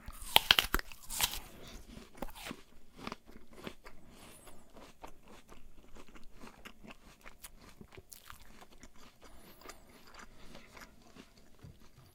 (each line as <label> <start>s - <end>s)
eating an apple 0.0s - 12.1s